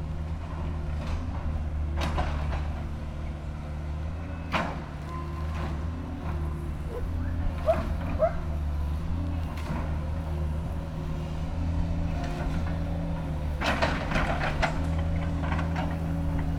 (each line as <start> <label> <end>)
6.9 my dogs, Sophie and Shirley barking 8.5